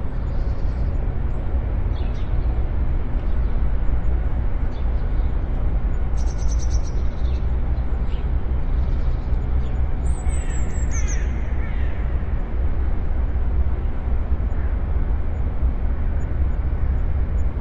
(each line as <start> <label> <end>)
0.0 birds 17.6